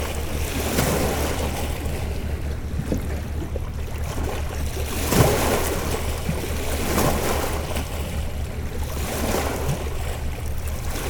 0.0s Two boats passing by on the Seine river 11.0s

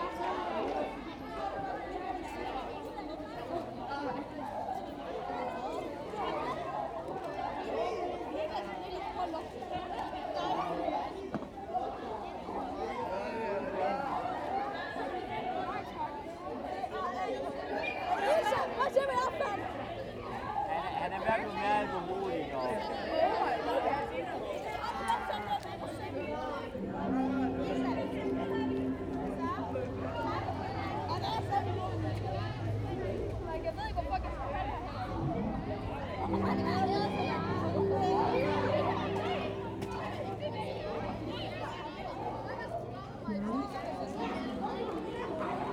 26.8s playing the tuning fork sculptures 32.4s
35.0s playing the tuning fork sculptures 41.5s

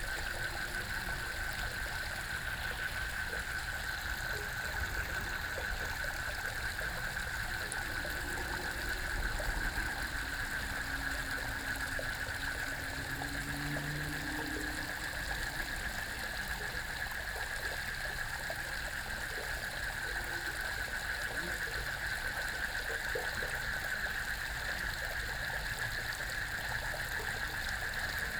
0.0s Flow sound 16.8s
0.0s Frogs chirping 17.2s
4.7s Traffic Sound 16.7s

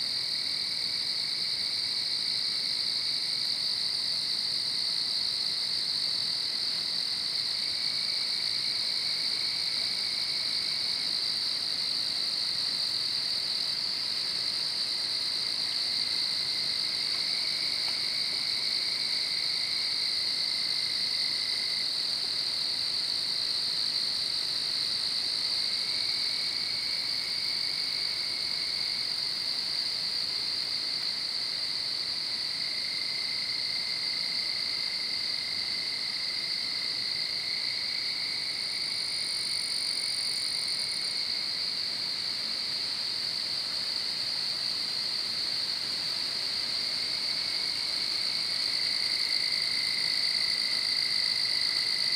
0.0s Frogs 52.1s
0.0s Night Insects 52.1s

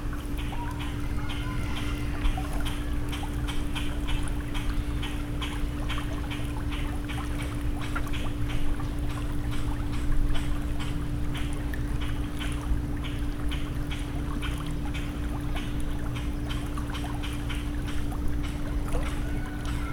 0.0s Water 19.9s
0.4s Birds 7.5s

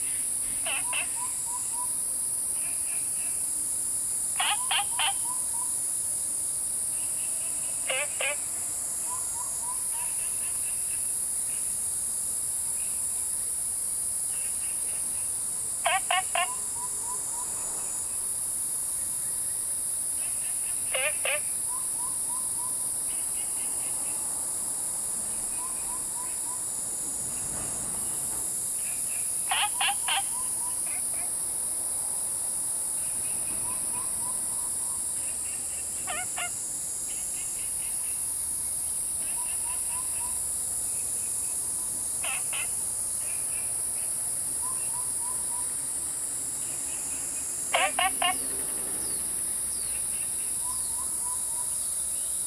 0.0s Frogs chirping 3.5s
0.0s Cicadas called 52.4s
0.0s Insects sounds 52.4s
0.1s Bird calls 1.9s
4.2s Frogs chirping 6.0s
4.4s Bird calls 5.7s
6.9s Frogs chirping 11.7s
14.2s Frogs chirping 24.5s
25.1s Frogs chirping 52.4s
28.9s Bird calls 31.3s
33.2s Bird calls 36.6s
42.2s Bird calls 43.7s
47.7s Bird calls 49.2s

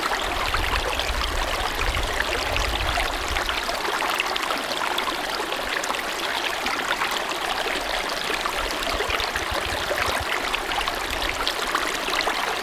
0.0s brook rippling 12.6s

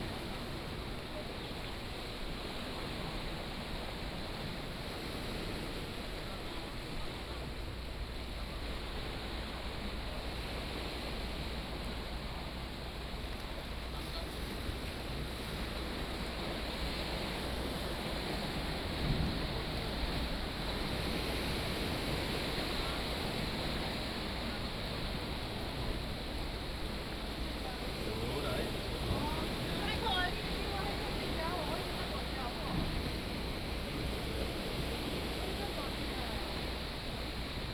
0.0s waves 37.7s
21.7s tourists 37.7s

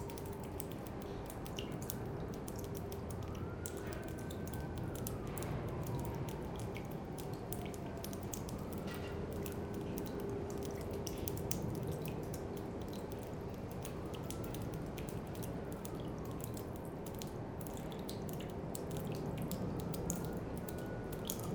0.0s Rain in an abandoned factory 21.5s
2.8s siren reverberates 9.9s

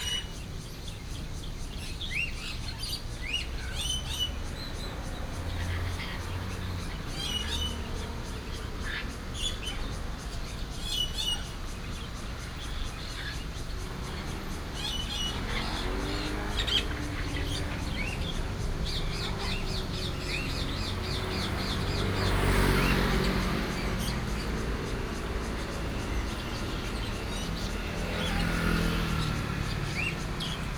0.0s Cicadas 30.7s
0.0s Traffic sound 30.7s

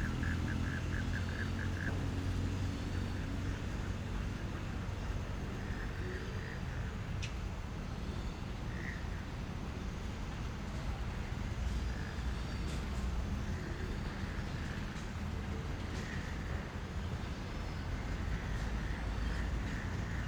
0.0s Frogs calling 7.0s
11.2s Frogs calling 20.2s

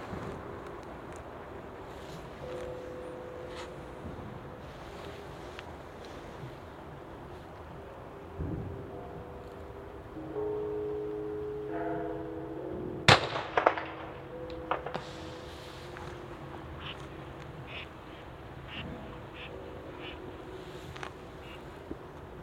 0.0s traffic 22.4s
0.0s trains 22.4s
1.3s temple bells 22.4s
13.1s firecracker 16.1s
13.1s fireworks 16.1s

